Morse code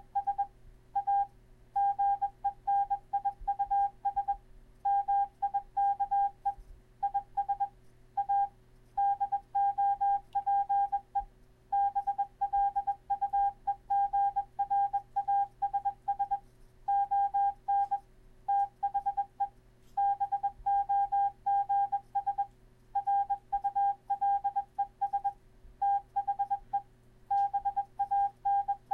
20.0s 28.9s

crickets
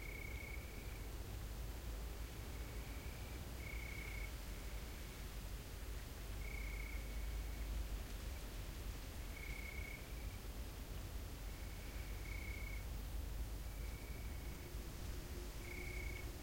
0.0s 1.2s, 2.3s 5.0s, 6.4s 7.8s, 9.2s 10.5s, 11.5s 13.0s, 13.6s 14.8s, 15.4s 16.4s

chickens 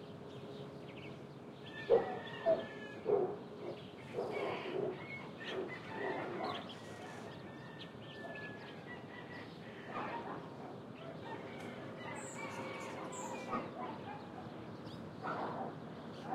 1.7s 14.4s

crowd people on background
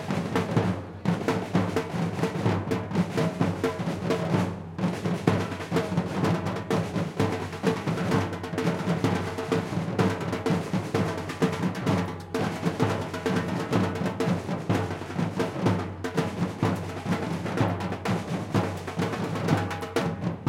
0.0s 7.4s

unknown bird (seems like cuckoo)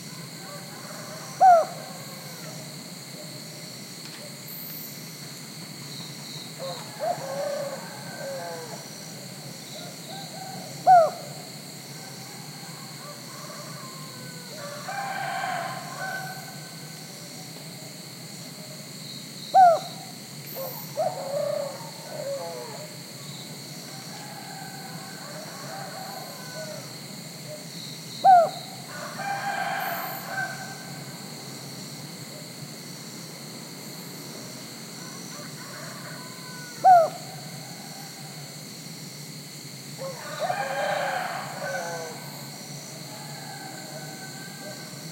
0.0s 3.4s, 6.5s 17.4s, 19.5s 31.1s, 35.0s 38.4s, 40.0s 42.5s

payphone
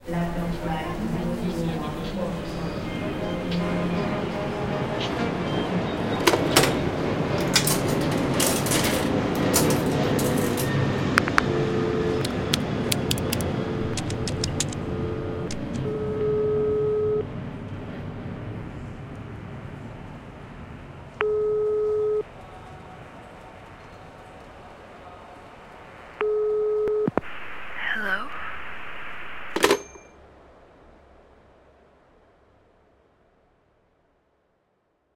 10.4s 17.2s, 21.2s 22.2s, 29.0s 30.1s

